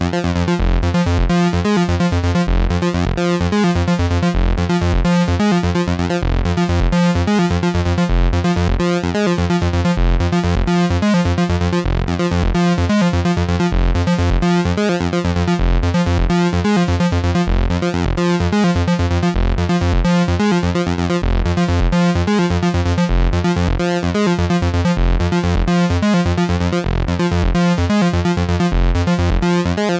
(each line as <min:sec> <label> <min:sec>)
0:00.0 bass 0:29.9